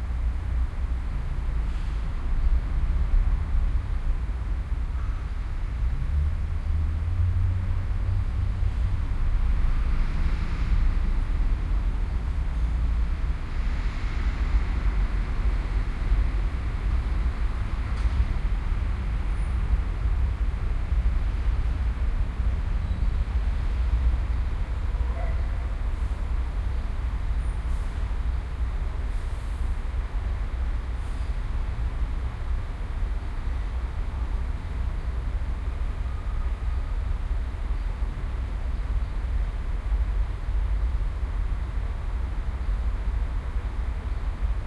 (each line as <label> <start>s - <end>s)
City Traffic 0.0s - 44.6s
city noises 0.0s - 44.6s